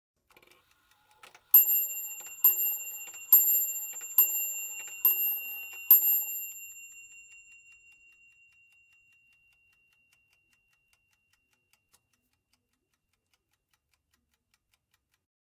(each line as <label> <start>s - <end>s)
carriage clock chimes 6 times 1.6s - 8.9s